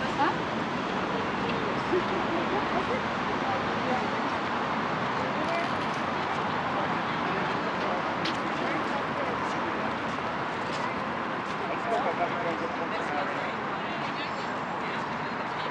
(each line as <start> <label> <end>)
0.0 locals and tourists visiting 15.7
0.0 vehicle traffic 15.7